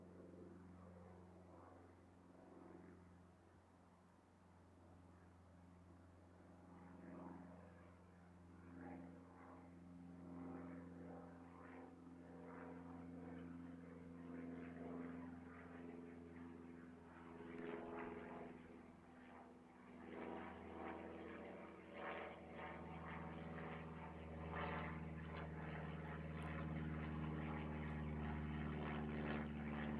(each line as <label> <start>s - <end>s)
Small plane flyover 0.0s - 29.9s